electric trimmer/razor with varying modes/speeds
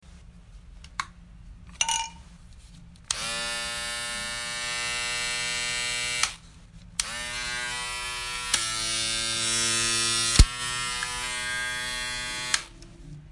3.1 6.4, 7.0 12.7

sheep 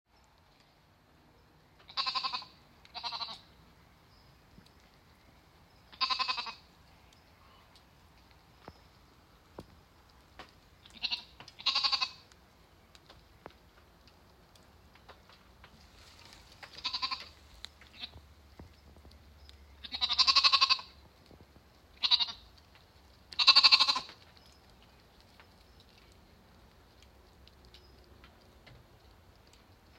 5.9 6.6, 10.8 12.2, 19.8 21.0, 22.0 22.5, 23.3 24.4

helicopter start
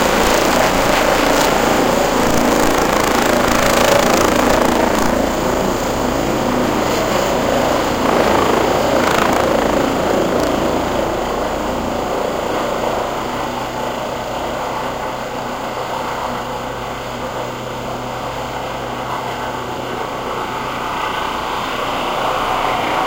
0.0 5.8, 7.6 11.5

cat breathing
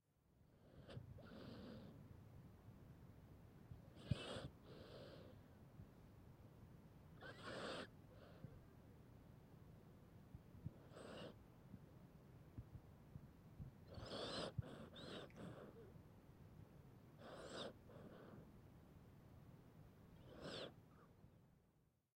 0.6 2.0, 4.0 5.4, 10.6 11.4, 13.8 15.9, 17.2 18.5, 20.2 20.8

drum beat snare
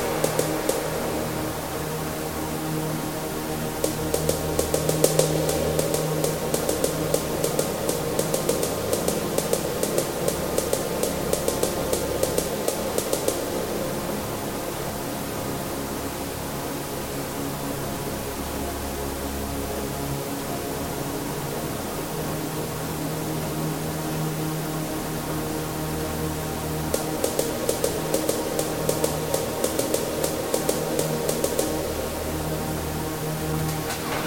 0.0 1.1, 3.8 13.6, 27.0 31.8

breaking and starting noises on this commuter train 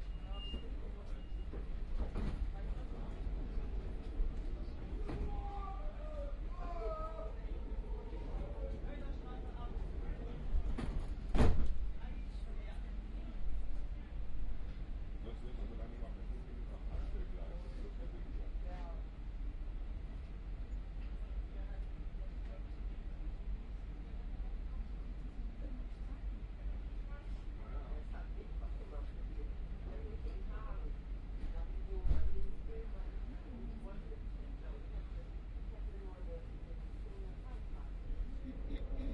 0.0 15.7, 17.9 33.3

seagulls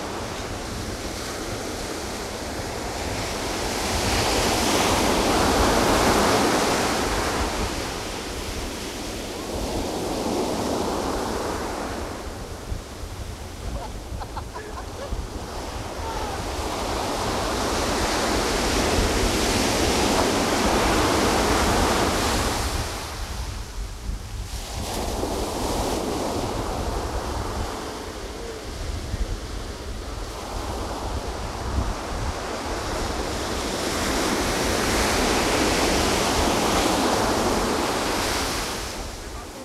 13.7 15.2

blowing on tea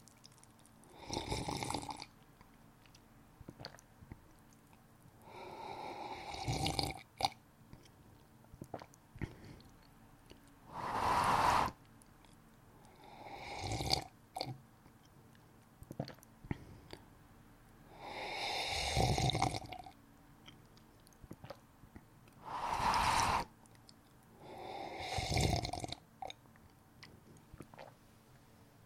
10.7 11.8, 22.4 23.5, 24.5 25.8

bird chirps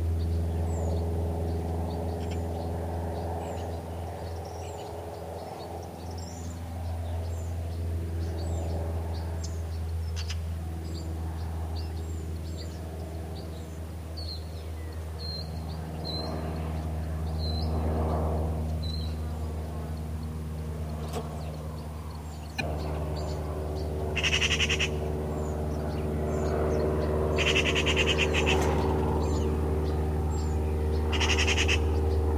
18.8 32.3

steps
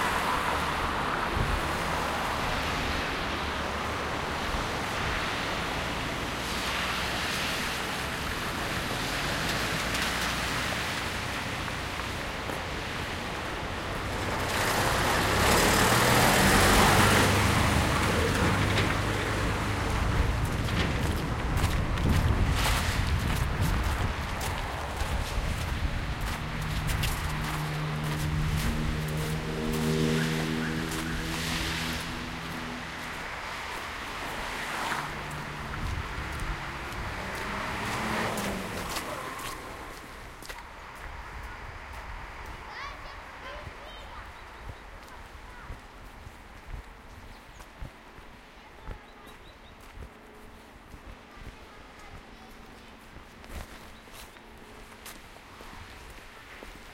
18.0 56.9

